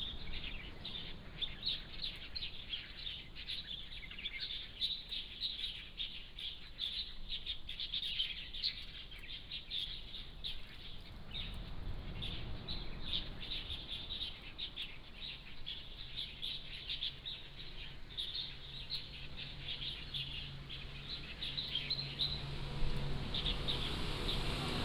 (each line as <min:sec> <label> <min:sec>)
0:00.0 Birdsong 0:24.8
0:10.2 Traffic Sound 0:24.8